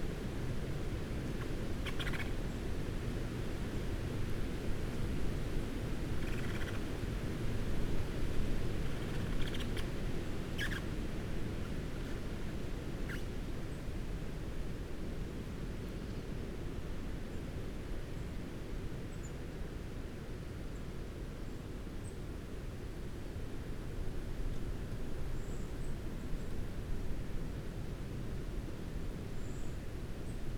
pheasant 0:01.8 - 0:02.4
pheasant 0:09.0 - 0:09.9
pheasant 0:10.5 - 0:11.0
blue tit 0:10.6 - 0:10.8
wren 0:10.6 - 0:10.9

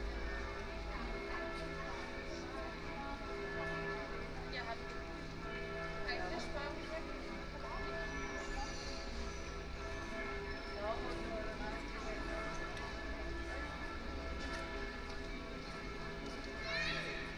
Voices of locals and tourists 0:00.0 - 0:17.3
bells of various churches 0:00.0 - 0:17.3

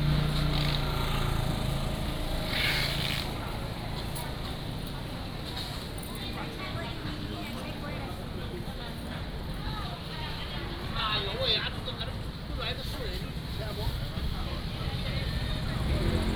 Traffic Sound 0:00.0 - 0:16.3
Walking through the market 0:00.0 - 0:16.3

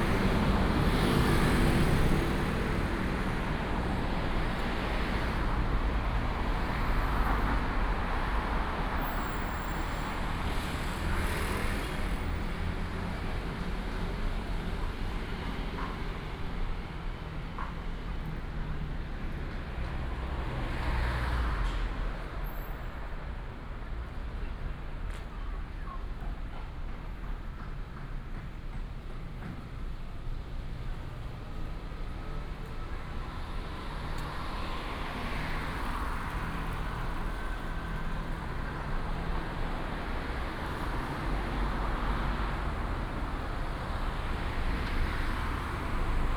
Traffic sound 0:00.0 - 0:46.3

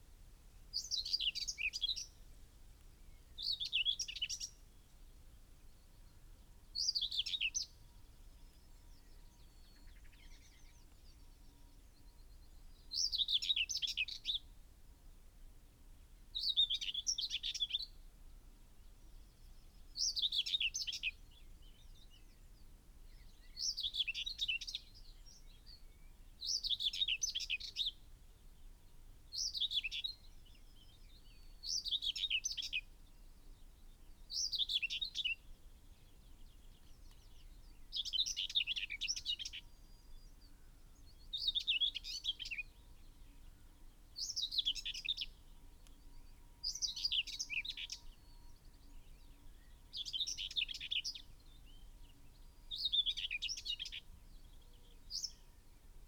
blackbird 0:00.7 - 0:02.2
blackbird 0:06.8 - 0:14.5
blackbird 0:19.3 - 0:22.4
blackbird 0:23.1 - 0:28.0
blackbird 0:29.3 - 0:33.0
blackbird 0:34.0 - 0:56.0

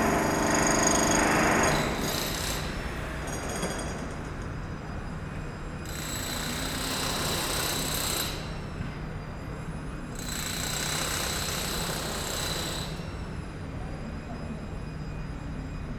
Very heavy works in a construction site 0:00.0 - 0:15.9

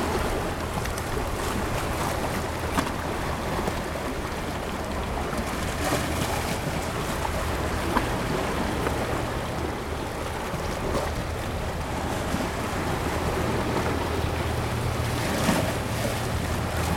Waves 0:00.0 - 0:16.9

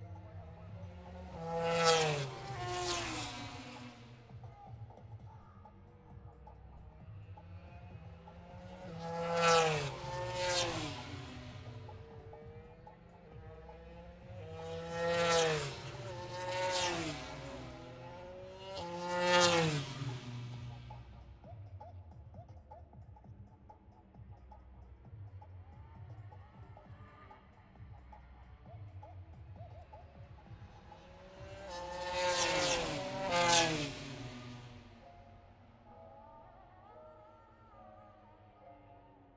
motorcycle grand prix 0:00.0 - 0:22.0
motorcycle grand prix 0:25.5 - 0:36.4

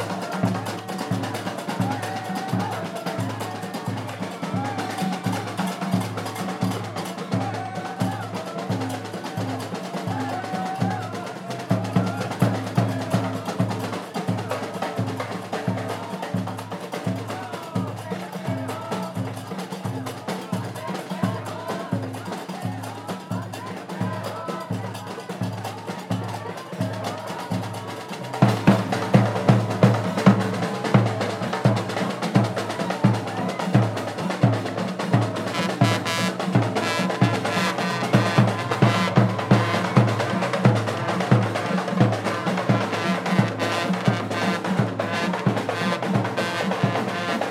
drums 0:00.0 - 0:47.5
qraqeb 0:00.0 - 0:47.5
voices 0:00.0 - 0:47.5
trumpets 0:28.4 - 0:47.5

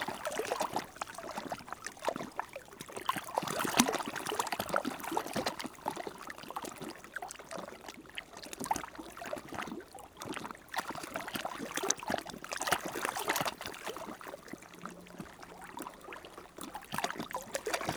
Seine river during the high tide 0:00.0 - 0:17.9

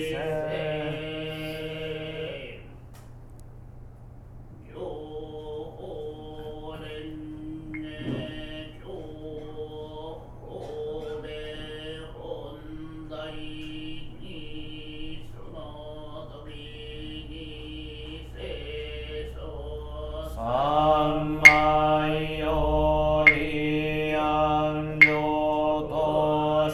kyo 経 0:21.4 - 0:22.0
kyo 経 0:23.3 - 0:23.7

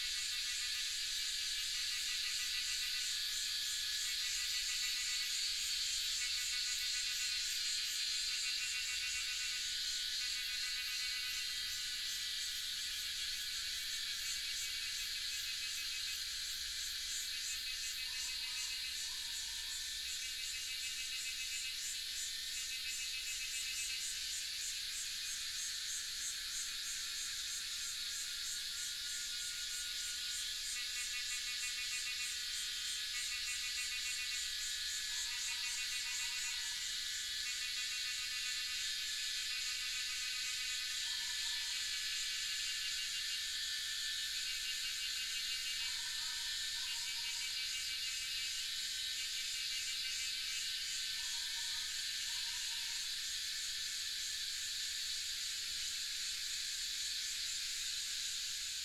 Cicada sounds 0:00.0 - 0:58.8

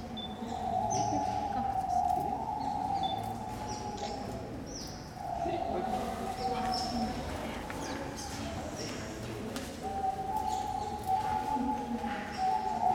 other birds 0:00.0 - 0:12.9
small pigeons 0:00.0 - 0:12.9

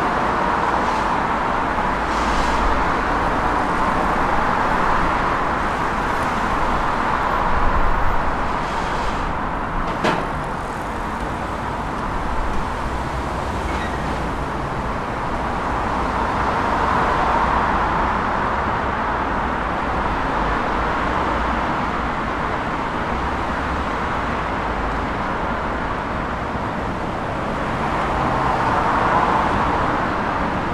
People biking and walking 0:00.0 - 0:16.4
Heavy traffic 0:00.0 - 0:30.7

